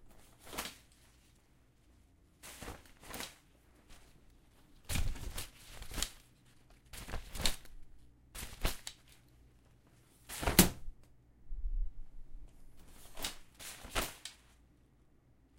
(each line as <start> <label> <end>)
10.3 Umbrella openAndClose 10.8